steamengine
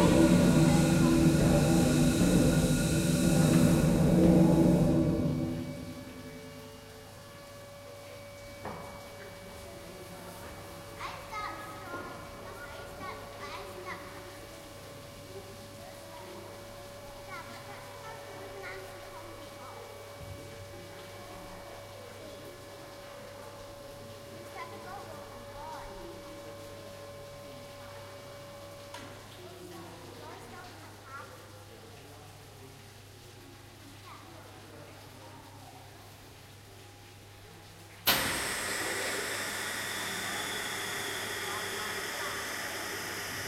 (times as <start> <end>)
0.0 28.8, 38.0 43.4